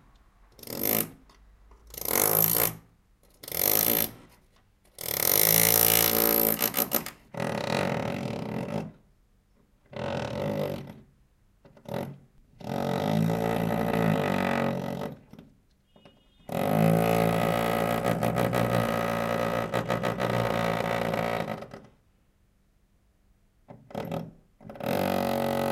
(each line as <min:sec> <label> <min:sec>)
0:00.6 drilling into external wall 0:01.2
0:03.4 drilling into external wall 0:04.2
0:05.0 drilling into external wall 0:08.9
0:12.6 drilling into external wall 0:15.2
0:16.5 drilling into external wall 0:21.8
0:23.9 drilling into external wall 0:25.7